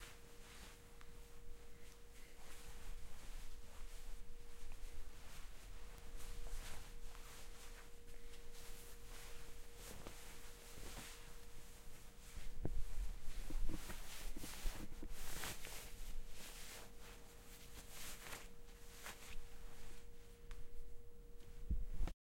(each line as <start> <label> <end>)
0.0 Clothing movements 22.1